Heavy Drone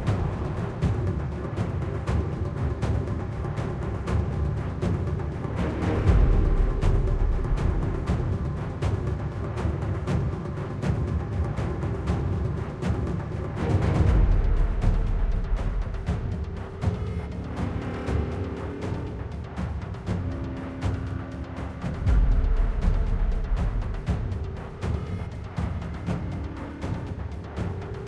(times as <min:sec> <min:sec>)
0:13.1 0:28.0